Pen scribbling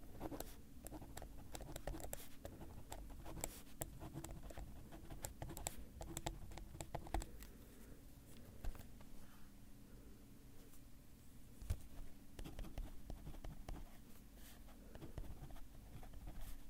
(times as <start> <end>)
0.2 7.3